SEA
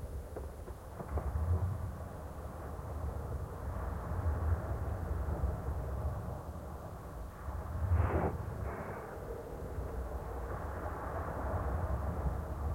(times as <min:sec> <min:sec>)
0:03.4 0:12.7